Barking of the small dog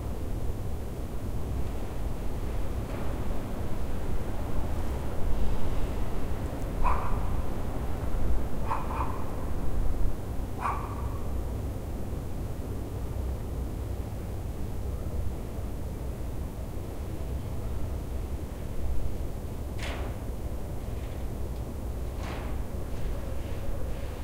0:06.8 0:07.3, 0:08.6 0:09.3, 0:10.6 0:11.3

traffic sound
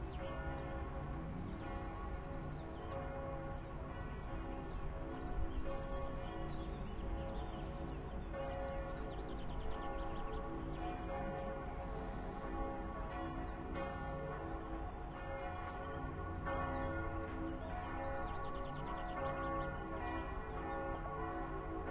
0:00.0 0:03.8

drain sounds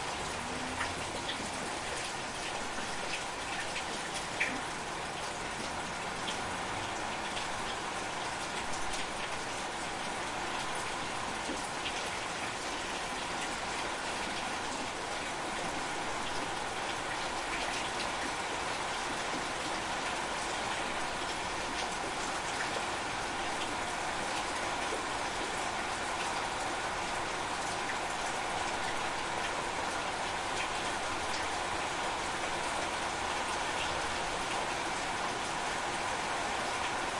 0:00.0 0:09.4

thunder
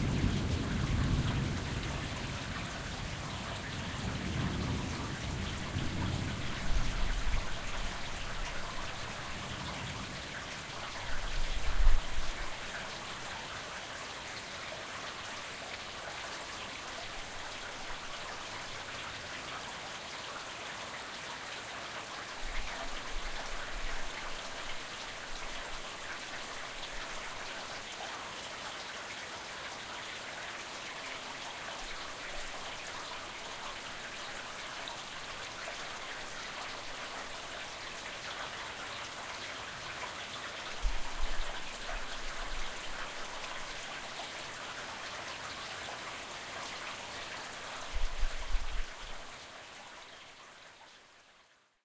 0:00.0 0:07.0

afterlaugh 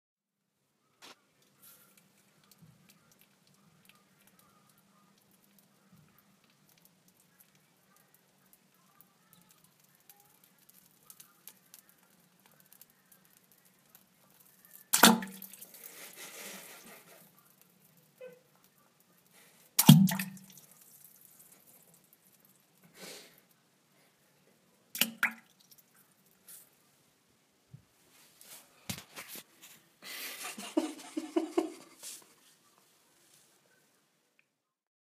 0:30.0 0:32.3

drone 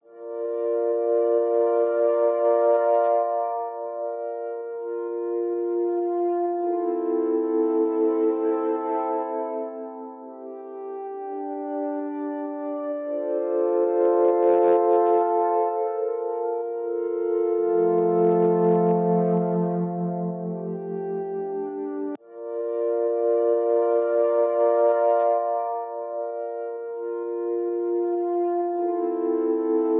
0:16.8 0:26.4

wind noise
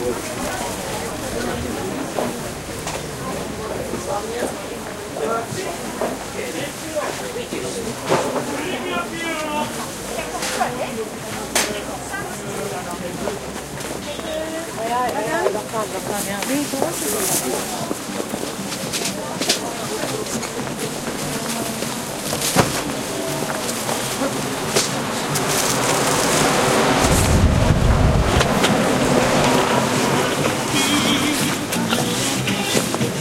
0:26.0 0:30.5

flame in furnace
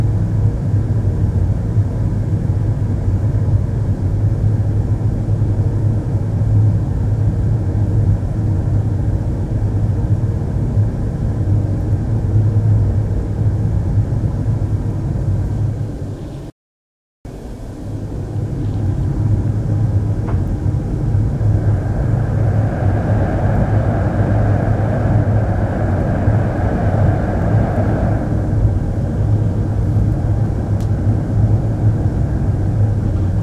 0:17.4 0:33.4

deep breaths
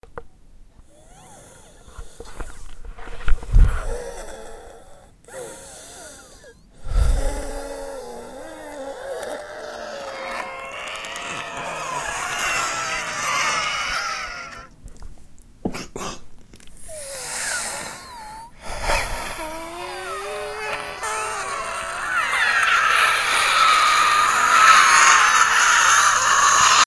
0:00.8 0:13.1, 0:16.8 0:23.6

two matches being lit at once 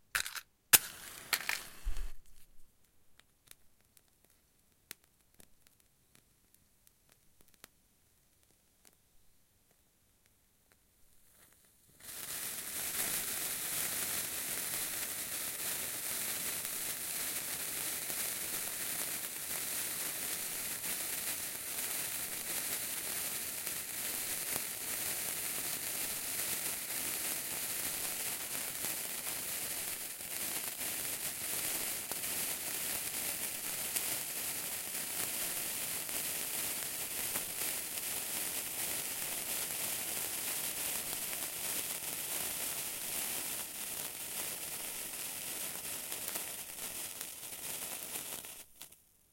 0:00.1 0:02.5

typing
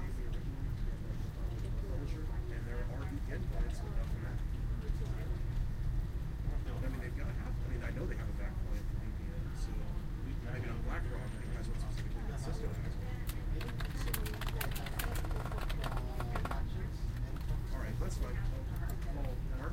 0:13.6 0:16.6

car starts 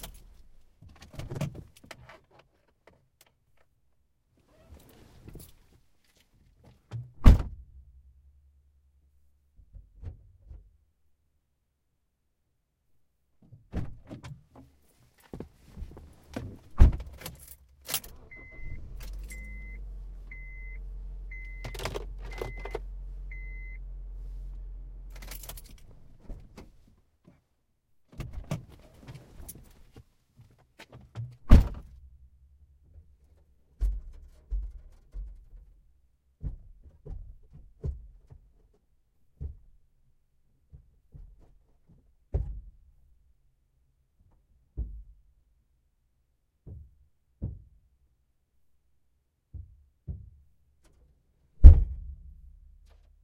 0:17.8 0:26.1

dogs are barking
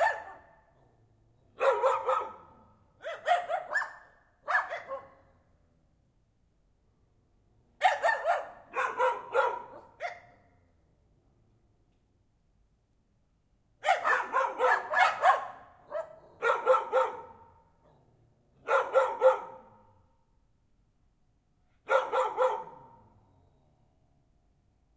0:00.0 0:05.5, 0:07.7 0:10.7, 0:13.8 0:20.0, 0:21.8 0:23.7

